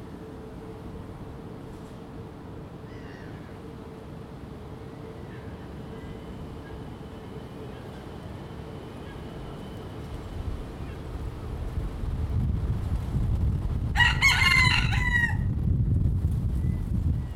train going by 0.0 - 14.0
plane flying 0.0 - 17.3
wind 0.0 - 17.3

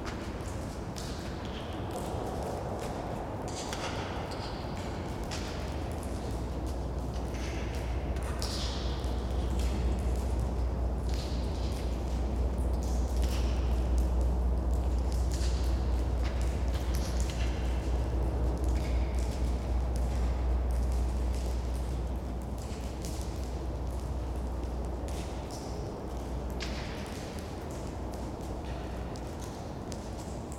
Drips inside bunker 6.0 - 29.4

